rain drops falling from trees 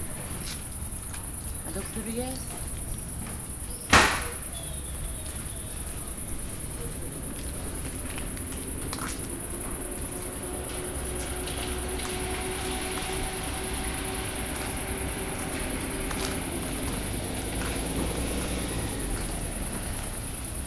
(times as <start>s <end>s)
7.3s 20.6s